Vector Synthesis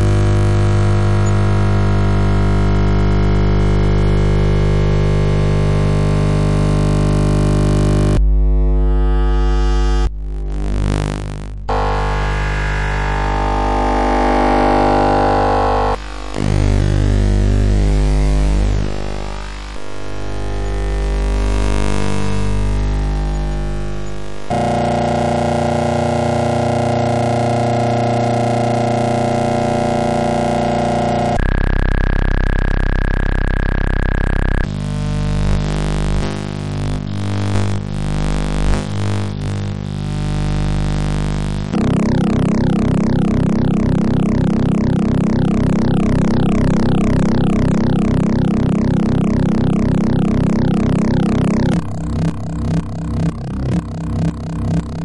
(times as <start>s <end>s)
22.2s 34.7s, 41.2s 55.0s